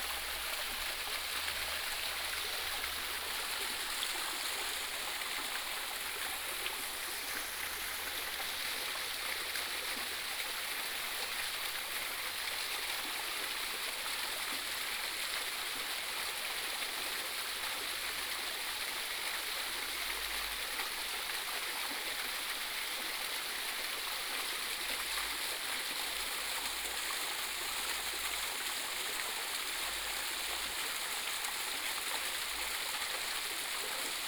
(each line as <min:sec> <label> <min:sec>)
0:00.0 Small waterfall 0:34.2